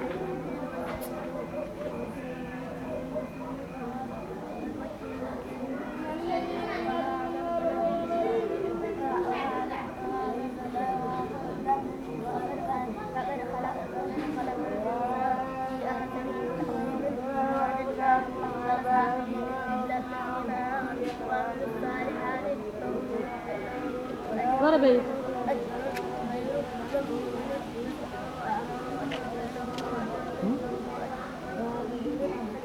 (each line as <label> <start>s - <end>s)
Turbo Quran 0.0s - 32.6s